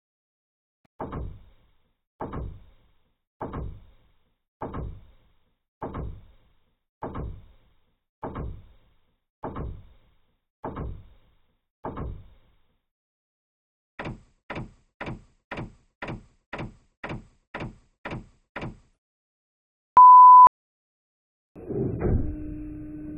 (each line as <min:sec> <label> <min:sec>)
0:14.0 robot walking at various paces 0:19.0